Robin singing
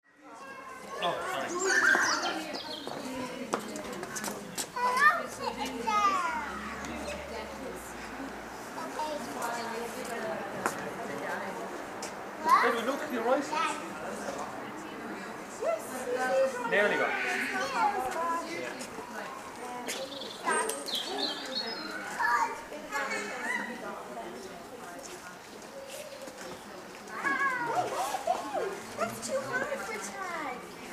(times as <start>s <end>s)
20.1s 22.0s